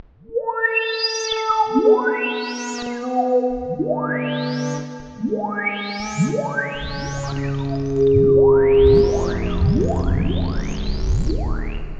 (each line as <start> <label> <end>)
5.3 Boiling and Whistling Sci-Fi Pads 11.9